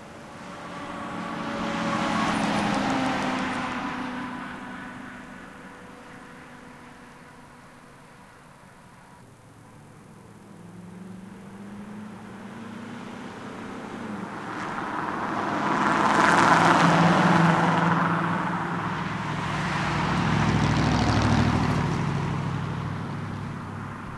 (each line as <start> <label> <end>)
0.0 Highway Traffic 24.1